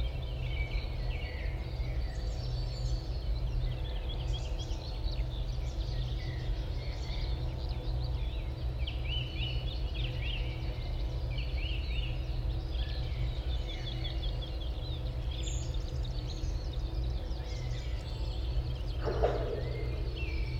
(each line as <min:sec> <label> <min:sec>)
0:00.0 song thrush 0:20.5